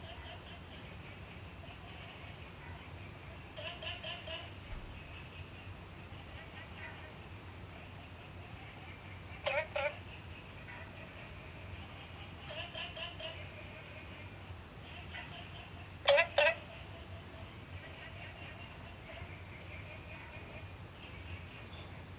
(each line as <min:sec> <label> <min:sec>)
0:03.5 Frog calls 0:07.0
0:08.9 Frog calls 0:21.5